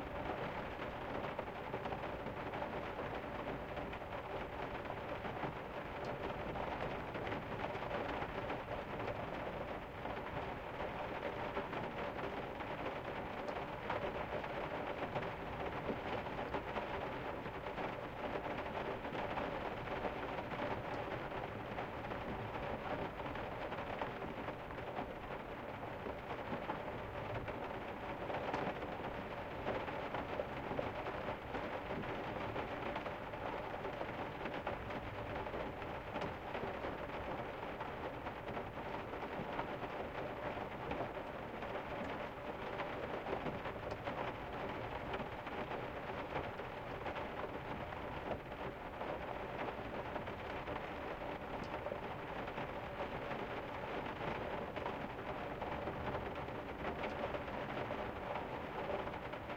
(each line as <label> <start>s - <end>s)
Rain on Roof 0.0s - 59.5s